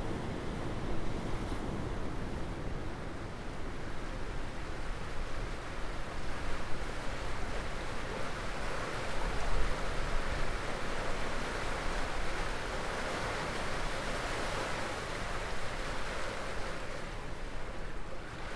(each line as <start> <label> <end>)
0.0 Anne river enters the sea 18.5
0.4 waves sloshing beneath a concrete grille 18.5